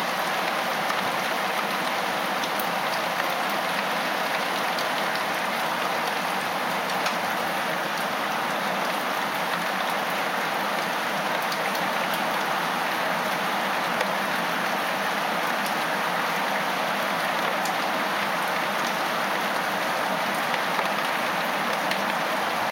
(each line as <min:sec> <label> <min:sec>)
0:00.0 heavy rain 0:22.7